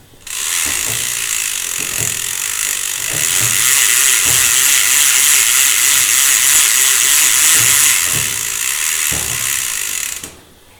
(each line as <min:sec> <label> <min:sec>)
0:00.0 rhythmic clunks of a steam escape valve 0:10.7
0:00.0 steam-driven beam engine 0:10.7
0:00.2 chain being pulled on ratchet pulley 0:10.6